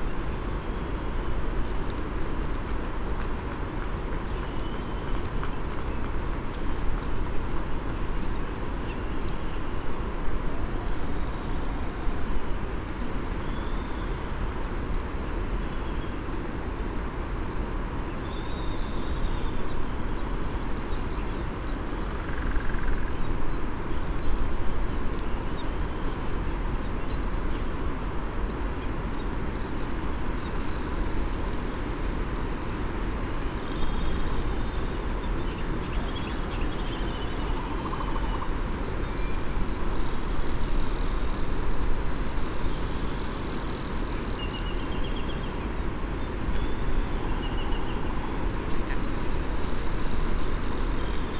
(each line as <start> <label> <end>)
22.0 red -tailed tropic bird 23.1
35.5 red -tailed tropic bird 38.5
35.6 Great frigate bird calls and 'song' 38.6